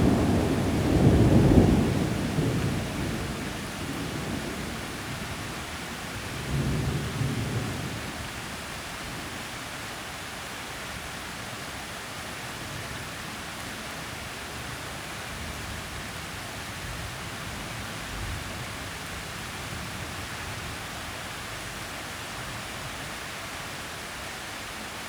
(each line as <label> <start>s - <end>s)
loudest thunder clap 0.0s - 5.0s
rain 0.0s - 25.0s